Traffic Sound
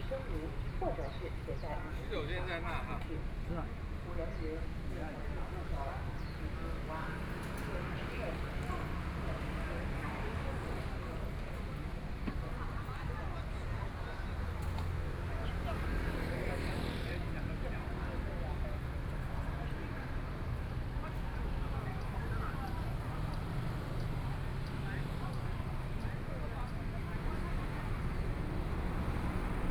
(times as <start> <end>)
20.2 29.7